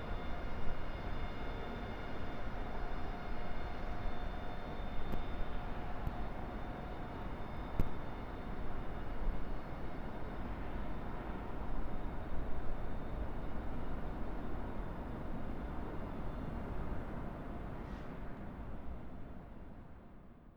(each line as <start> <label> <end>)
9.9 train stops, honks the horn and pushes the carriages back 20.0